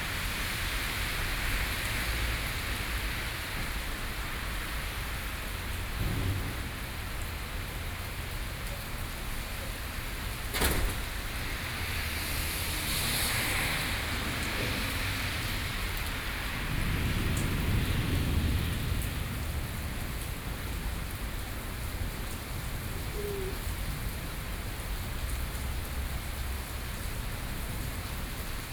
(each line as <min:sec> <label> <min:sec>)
0:01.9 Thunderstorm 0:23.0